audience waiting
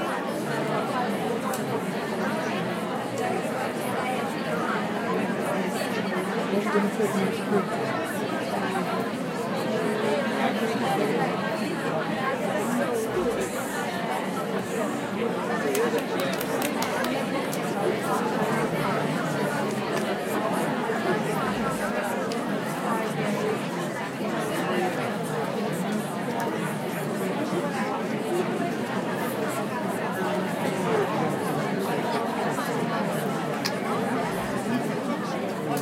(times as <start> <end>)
12.6 22.0